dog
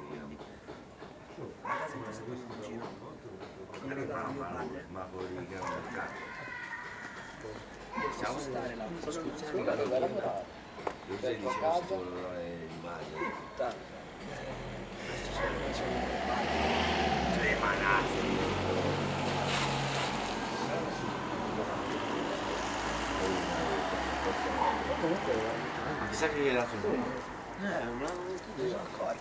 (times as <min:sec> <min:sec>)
0:01.6 0:02.2, 0:05.6 0:06.0, 0:11.4 0:11.9, 0:13.1 0:13.6, 0:15.3 0:15.7, 0:24.5 0:25.0